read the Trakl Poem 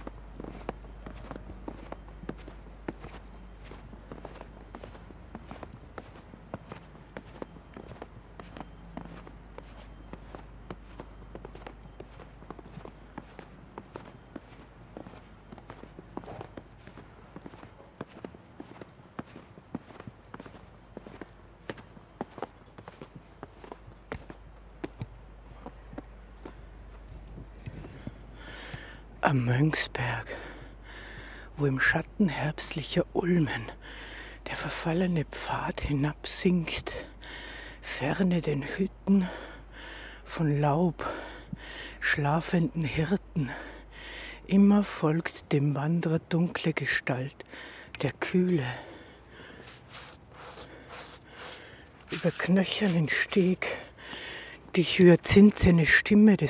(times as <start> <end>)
48.0 56.2